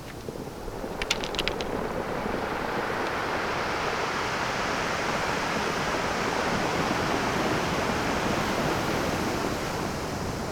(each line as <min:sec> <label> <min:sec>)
0:00.0 rocks bounce off each other 0:03.3
0:00.2 waves 0:10.5